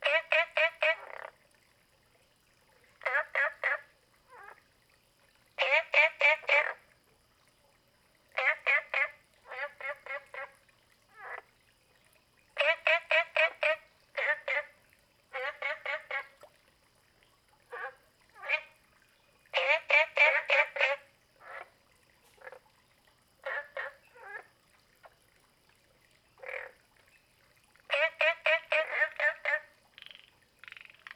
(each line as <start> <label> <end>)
0.0 Frogs chirping 1.4
3.0 Frogs chirping 4.6
5.6 Frogs chirping 6.9
8.3 Frogs chirping 11.5
12.6 Frogs chirping 16.4
17.7 Frogs chirping 25.2
26.2 Frogs chirping 27.3
27.9 Frogs chirping 31.1